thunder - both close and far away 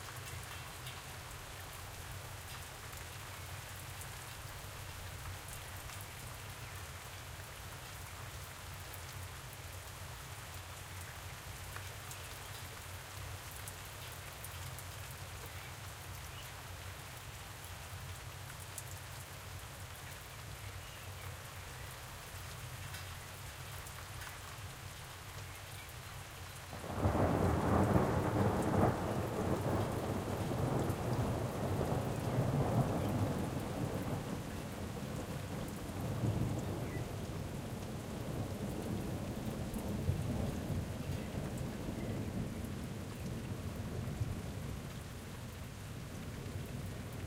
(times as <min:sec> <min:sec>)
0:26.8 0:37.6